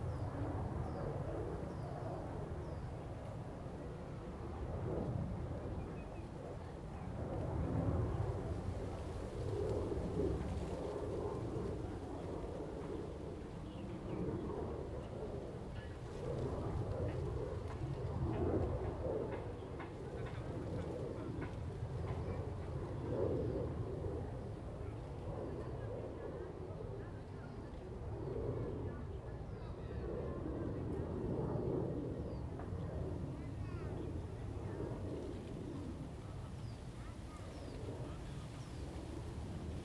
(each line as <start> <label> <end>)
0.0 Wind 39.8